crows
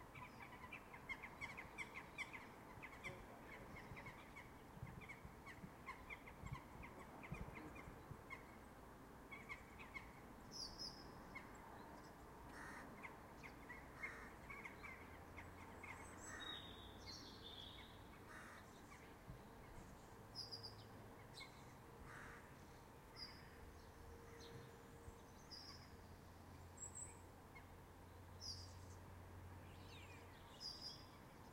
12.5 13.1, 14.0 14.8, 18.3 18.7, 22.1 22.5

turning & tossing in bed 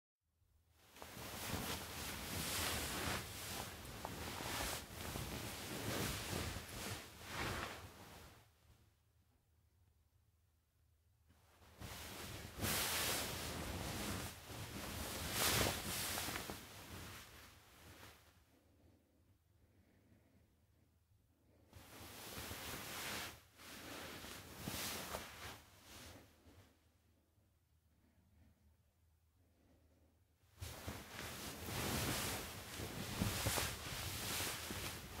0.8 8.7, 11.4 18.3, 21.7 26.6, 30.5 35.2

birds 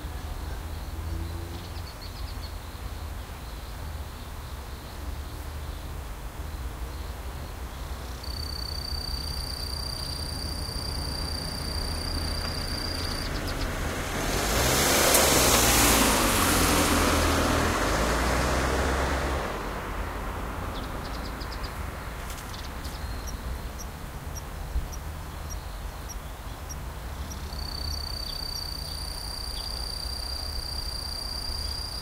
0.0 14.0, 20.6 32.0

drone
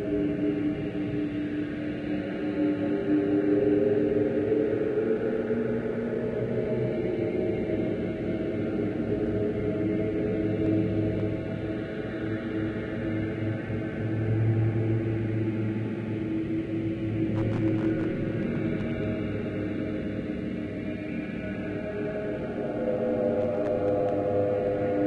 15.2 25.0

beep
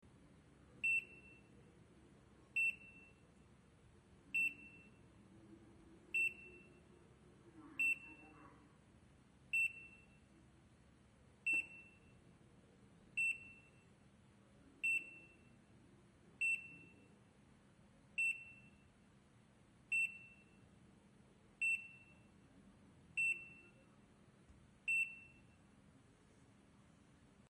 0.8 1.5, 2.6 3.2, 4.4 5.0, 6.2 6.8, 7.8 8.2, 9.6 10.2, 11.5 12.2, 23.2 23.8, 24.9 25.6

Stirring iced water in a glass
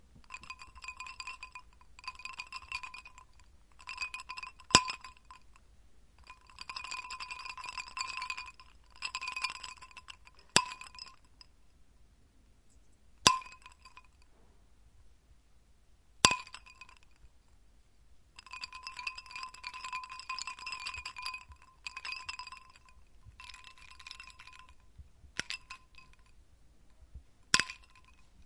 0.2 5.4, 6.2 11.2, 18.4 24.8, 25.4 26.2, 27.6 28.2

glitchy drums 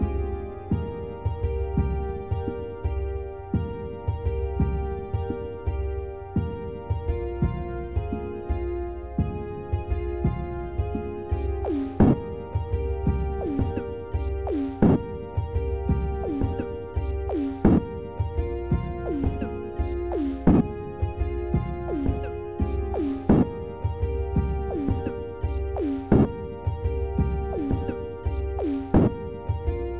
11.3 12.2, 13.1 15.1, 15.9 17.9, 18.7 20.7, 21.6 23.6, 24.4 26.4, 27.2 29.2

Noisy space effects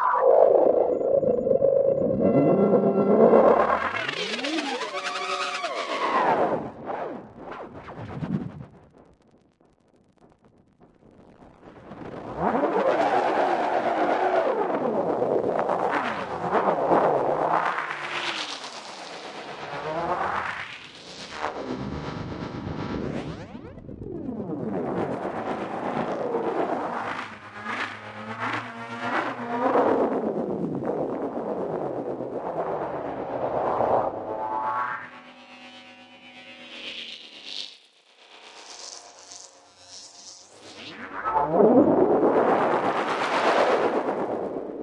0.0 12.7, 29.6 37.5

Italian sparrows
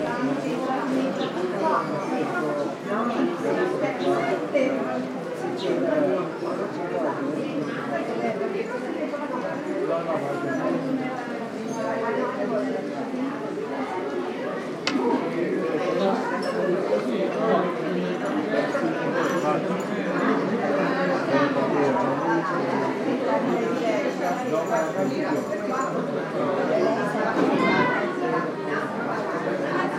0.8 3.1

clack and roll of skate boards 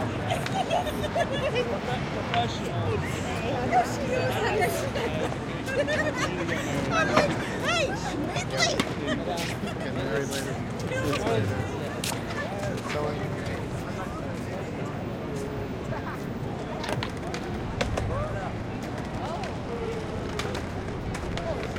7.0 7.4, 16.6 21.7

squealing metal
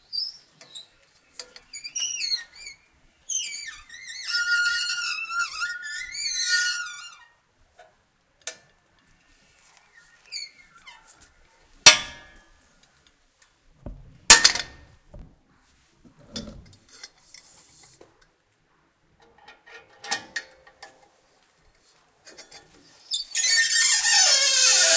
1.7 7.3, 23.1 24.9

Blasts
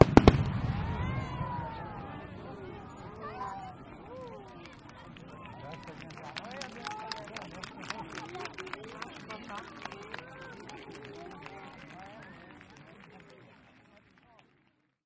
0.0 3.0

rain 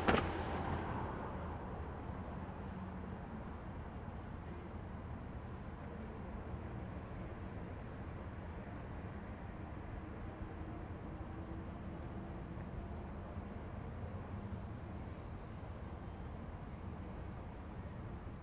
0.0 1.6

